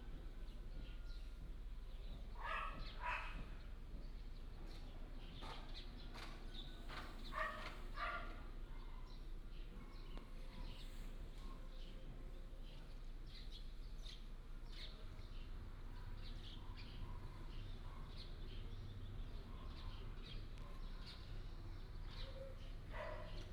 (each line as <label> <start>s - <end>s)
birds sound 0.0s - 23.5s